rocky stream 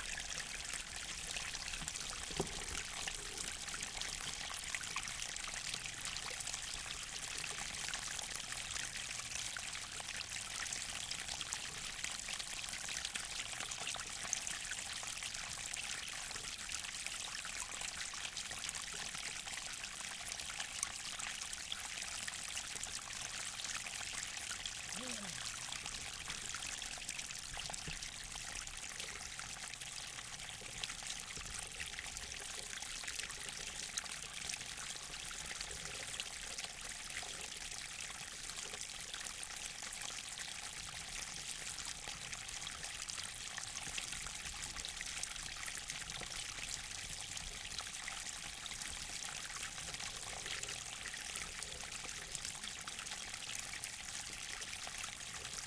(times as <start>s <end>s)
0.0s 5.1s